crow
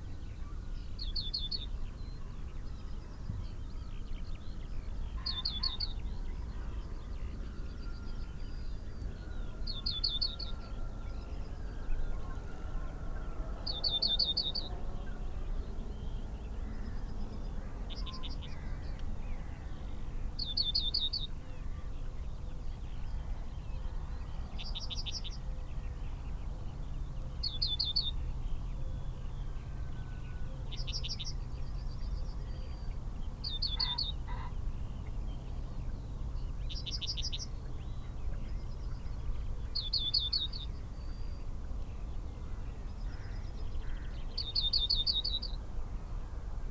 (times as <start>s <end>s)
33.8s 34.6s